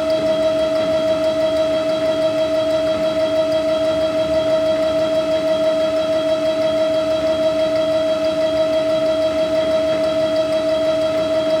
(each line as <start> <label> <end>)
0.0 drone of an old water pump 11.6